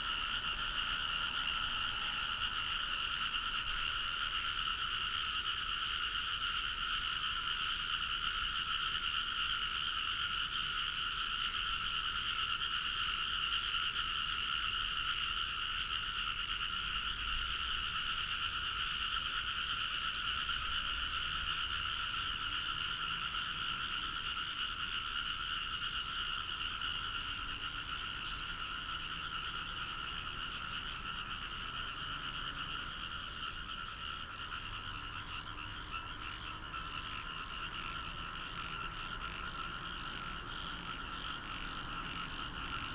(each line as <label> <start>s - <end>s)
Traffic sound 0.0s - 6.5s
Frog croak 0.0s - 42.9s
Traffic sound 19.5s - 42.9s